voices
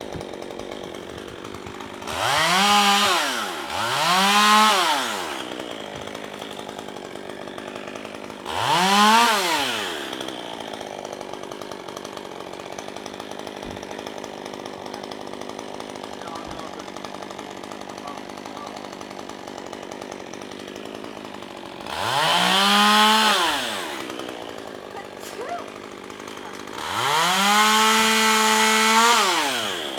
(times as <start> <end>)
16.0 19.0, 24.8 26.8